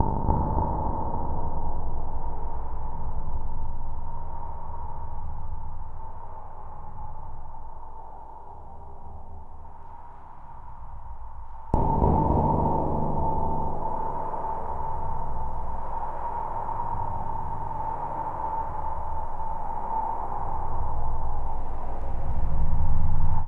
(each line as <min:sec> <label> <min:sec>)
0:00.0 dark synthesized sound 0:02.4
0:11.8 dark synthesized sound 0:20.9